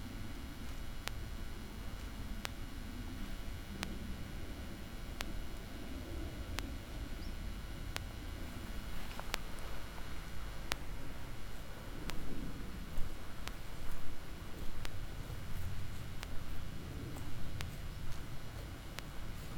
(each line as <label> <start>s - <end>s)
permanent electric pulse of the electric fence 0.0s - 19.5s
cows eating the meadow 8.4s - 19.5s